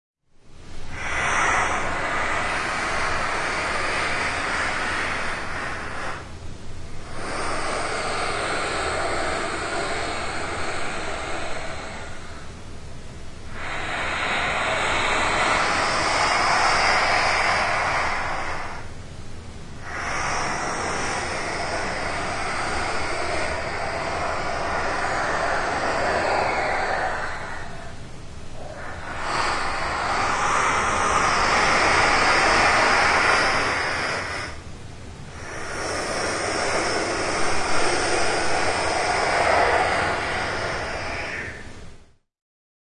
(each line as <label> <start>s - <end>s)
noisy inhaling/exhaling breaths 0.4s - 42.3s